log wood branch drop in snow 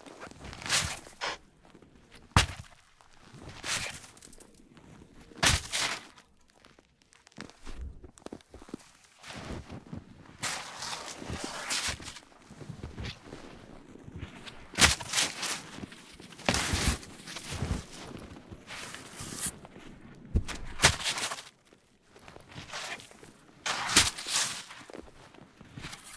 2.1 12.2, 14.7 19.6, 22.4 25.1

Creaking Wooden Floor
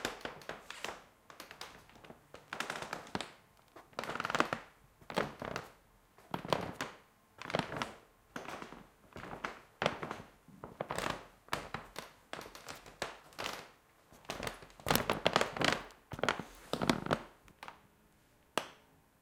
1.4 4.6

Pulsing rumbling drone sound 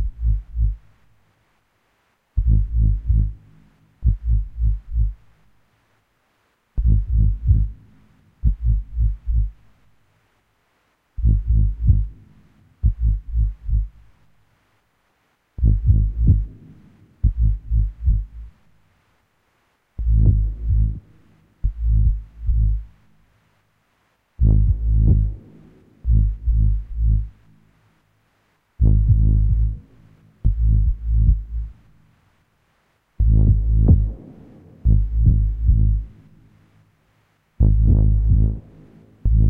0.0 0.8, 2.4 3.4, 4.0 5.2, 6.8 7.8, 8.4 9.6, 11.2 12.1, 12.8 13.9, 15.6 16.5, 17.2 18.5, 20.0 21.0, 21.6 22.9, 24.4 25.4, 26.0 27.4, 28.8 29.8, 30.4 31.8, 33.2 36.2, 37.6 38.6, 39.2 39.4

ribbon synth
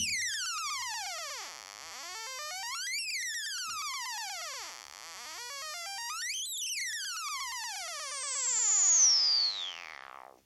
0.0 0.4

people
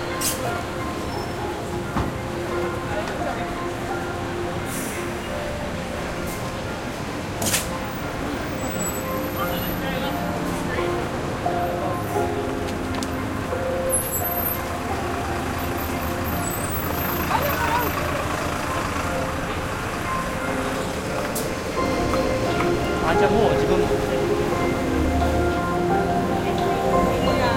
15.8 27.5

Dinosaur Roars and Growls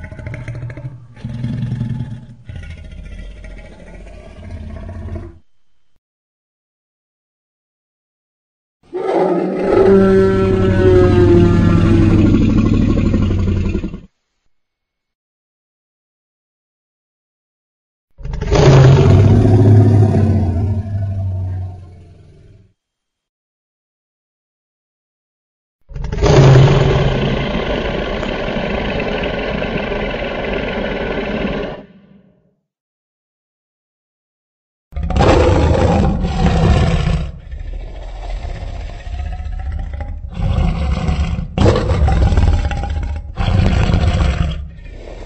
0.0 5.5, 8.9 14.1, 18.2 22.7, 25.9 32.4, 35.0 45.2

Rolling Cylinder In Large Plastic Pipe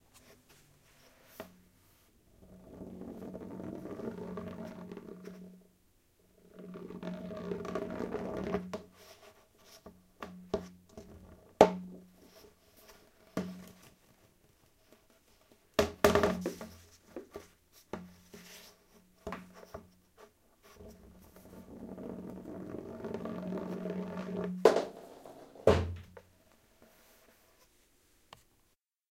2.3 5.7, 6.3 14.2, 20.6 27.0

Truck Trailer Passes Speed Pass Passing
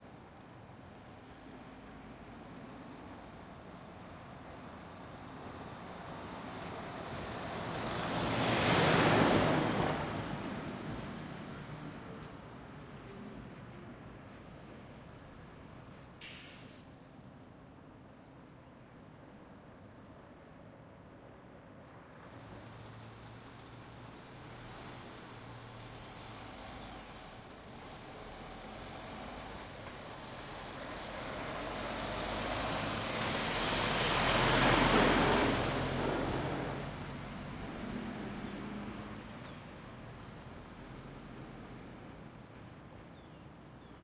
5.7 12.2, 22.4 42.0

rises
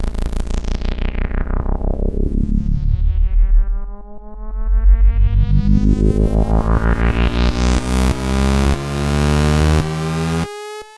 0.8 9.0

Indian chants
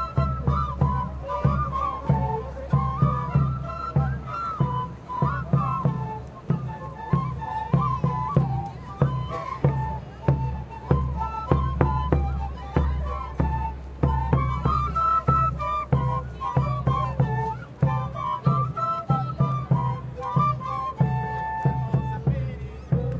0.0 5.2, 15.3 23.1

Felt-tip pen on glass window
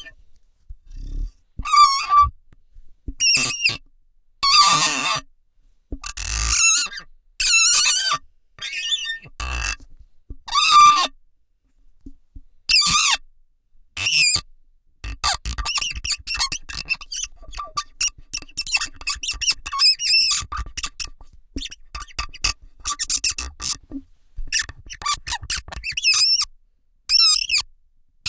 15.2 26.5

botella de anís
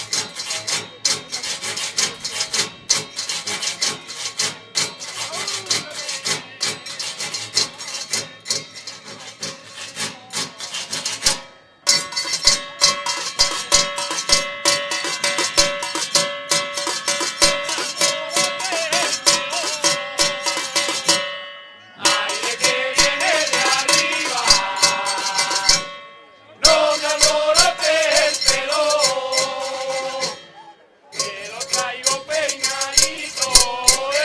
22.0 34.2

